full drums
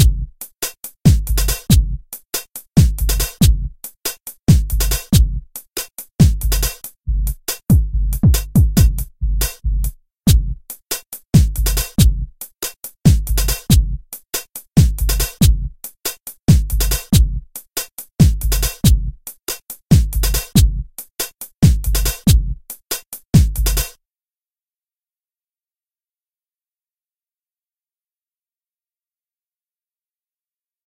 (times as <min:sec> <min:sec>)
0:00.0 0:24.0